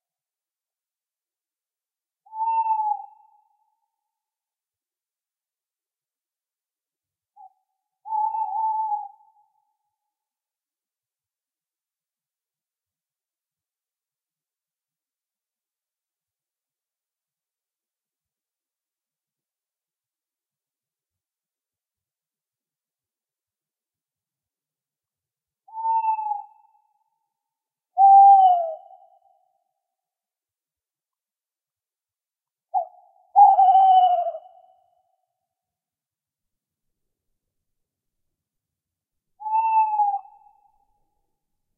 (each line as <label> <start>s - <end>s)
two male Tawny owls (Strix aluco) hooting 2.2s - 3.7s
two male Tawny owls (Strix aluco) hooting 7.4s - 9.7s
two male Tawny owls (Strix aluco) hooting 25.7s - 27.1s
two male Tawny owls (Strix aluco) hooting 28.0s - 29.6s
two male Tawny owls (Strix aluco) hooting 32.7s - 35.2s
two male Tawny owls (Strix aluco) hooting 39.4s - 40.8s